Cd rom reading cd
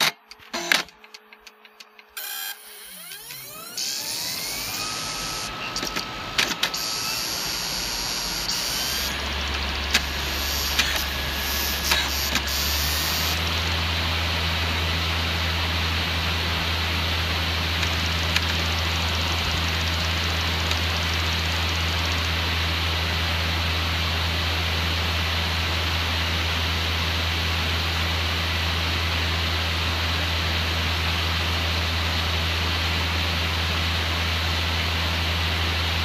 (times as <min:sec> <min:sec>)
0:00.0 0:23.6